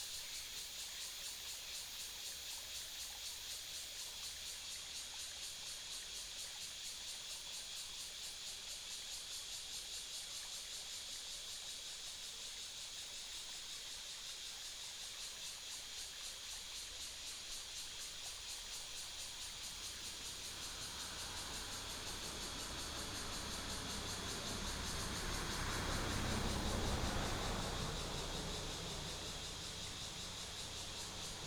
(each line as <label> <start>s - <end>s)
Cicadas call 0.0s - 31.4s
stream 9.2s - 31.4s